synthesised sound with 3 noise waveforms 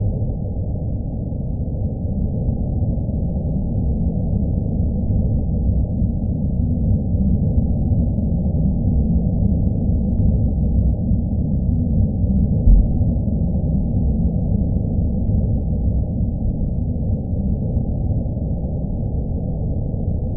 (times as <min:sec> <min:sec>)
0:12.7 0:13.0